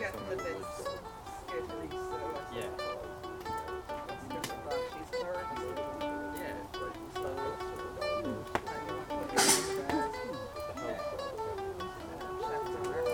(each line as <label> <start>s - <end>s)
jamming by the fire 0.0s - 13.1s